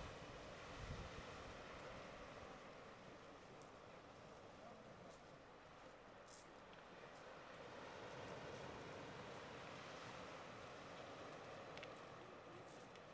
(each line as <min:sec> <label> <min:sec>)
0:00.0 sea 0:13.1
0:00.0 wind 0:13.1